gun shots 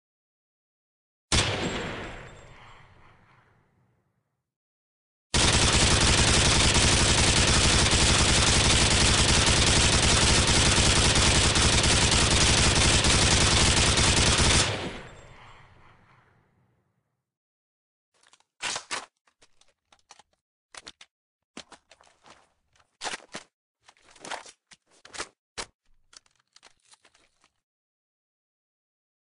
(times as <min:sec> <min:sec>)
0:01.3 0:03.4, 0:05.4 0:16.2